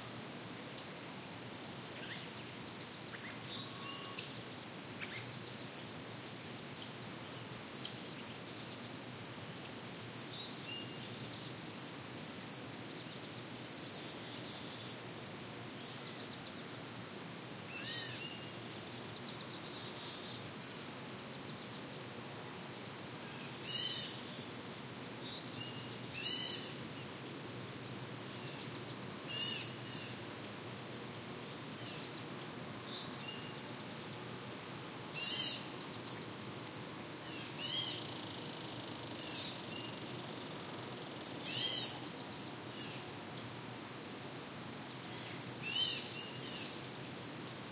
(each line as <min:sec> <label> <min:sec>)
0:00.0 insects 0:47.7